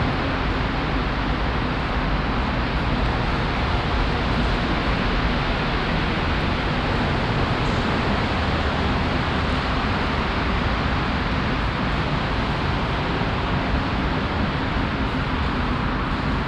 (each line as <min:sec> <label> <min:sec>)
0:00.0 traffic from the nearby highway 0:16.4